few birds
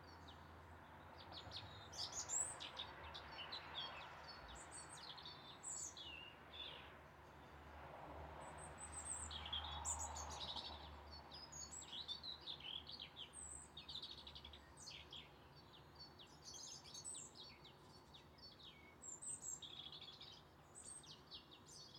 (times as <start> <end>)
8.7 21.9